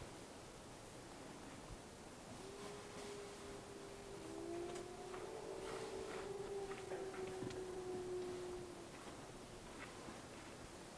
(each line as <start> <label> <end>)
2.3 Wolves howling in the distance 9.9